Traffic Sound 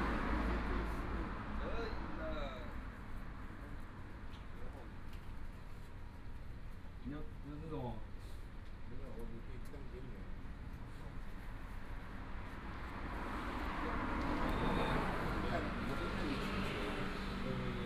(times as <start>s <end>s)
0.0s 4.2s, 11.3s 17.8s